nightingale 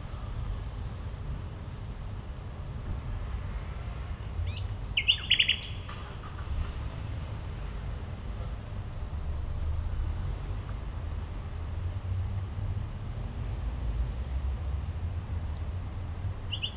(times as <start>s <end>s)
16.5s 16.7s